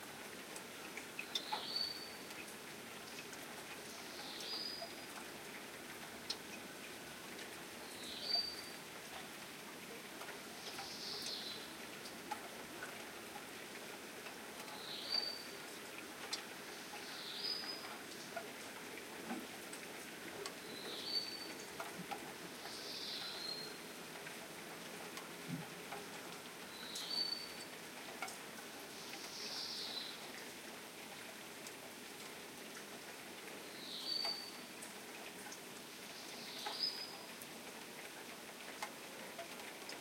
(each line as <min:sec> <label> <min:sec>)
0:00.0 Rain 0:40.0
0:36.2 Birds 0:37.2